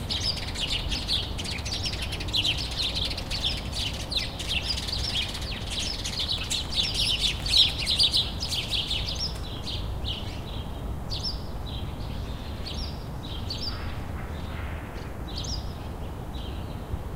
Chirping sparrows 0:00.0 - 0:16.9
Hum of city 0:00.0 - 0:17.1

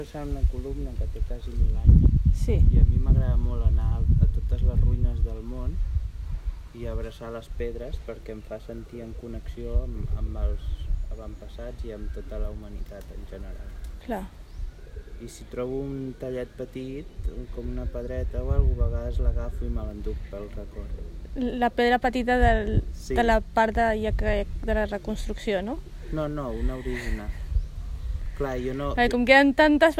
Casual conversation 0:00.0 - 0:29.9
faint street ambiance 0:00.0 - 0:29.9
subtle laughter 0:26.5 - 0:27.5

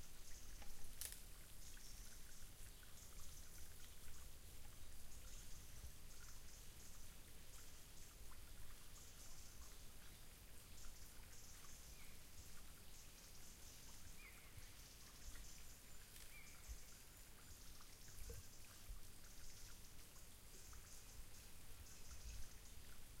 birds 0:00.0 - 0:23.2
water 0:00.0 - 0:23.2

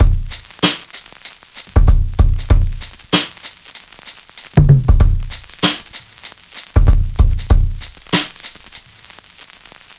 drum break 0:00.0 - 0:08.8

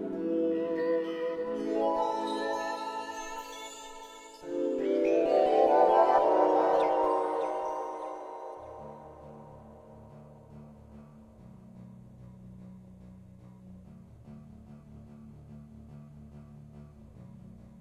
synth 0:00.0 - 0:11.6

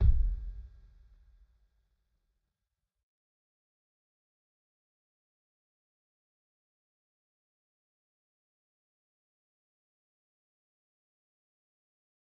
kick 0:00.0 - 0:00.7

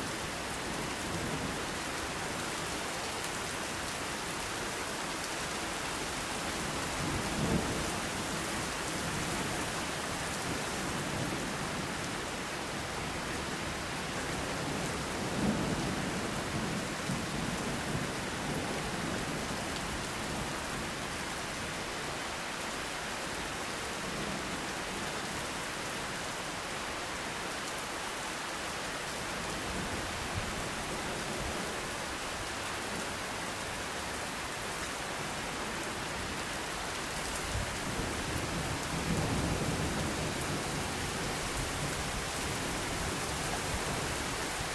Rain 0:00.0 - 0:44.7

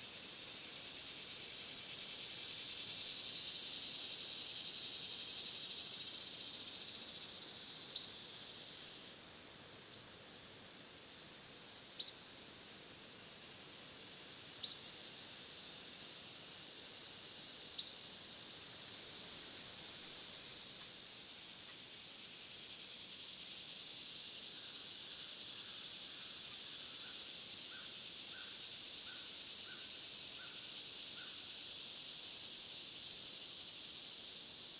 Insects 0:00.0 - 0:34.7
river of wind steadily swirling around the Oaks 0:00.0 - 0:34.7

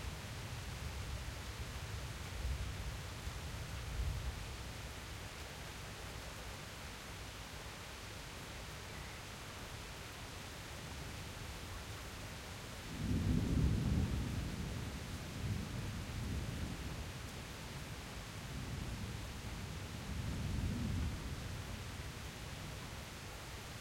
rain 0:00.0 - 0:23.8
thunder 0:13.0 - 0:16.9

